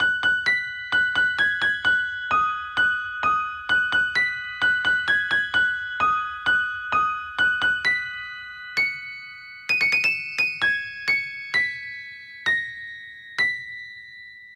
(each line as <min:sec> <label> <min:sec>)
0:00.0 music box 0:14.5